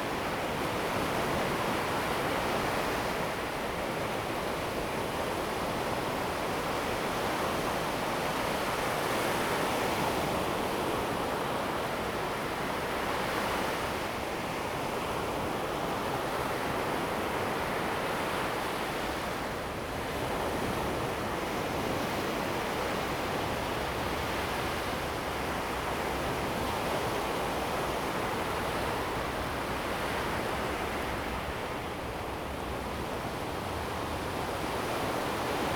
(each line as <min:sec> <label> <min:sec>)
0:00.0 waves 0:35.7